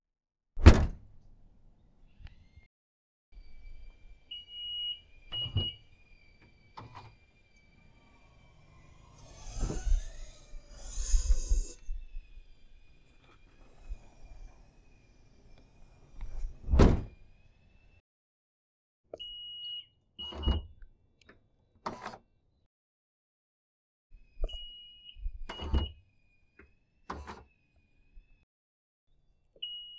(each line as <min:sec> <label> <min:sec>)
0:13.3 van trunk open and closing 0:17.3